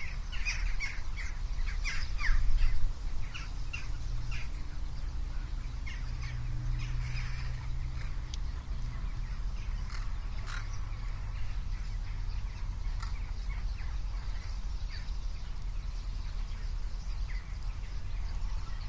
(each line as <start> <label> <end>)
0.0 birds flying by 18.8
0.0 distant traffic 18.8
0.0 rain 18.8